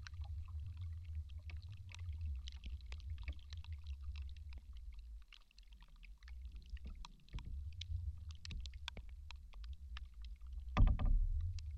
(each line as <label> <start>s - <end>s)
slight rain is also heard falling on the tree's surface 0.0s - 11.7s
Creaking rotten tree 10.7s - 11.7s